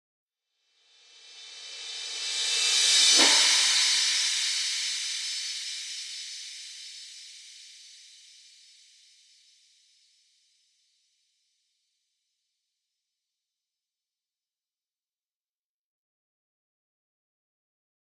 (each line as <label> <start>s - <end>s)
Reverse Cymbal 0.7s - 9.7s